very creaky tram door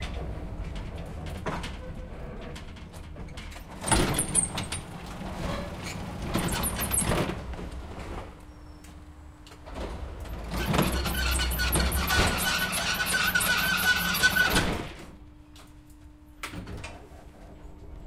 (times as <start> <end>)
0.0 8.8, 9.6 15.1